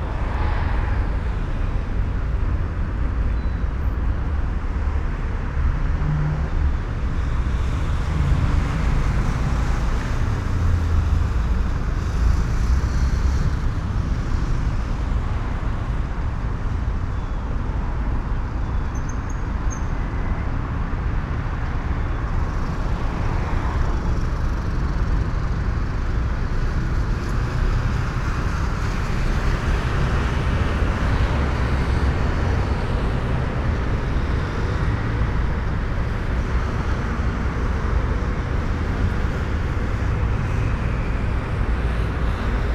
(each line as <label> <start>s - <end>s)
heavy car traffic 0.0s - 42.7s